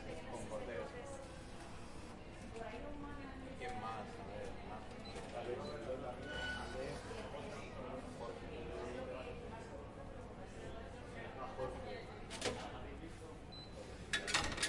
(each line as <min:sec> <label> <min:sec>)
0:00.0 people talking in the background 0:14.6
0:13.9 person using a vending machine 0:14.6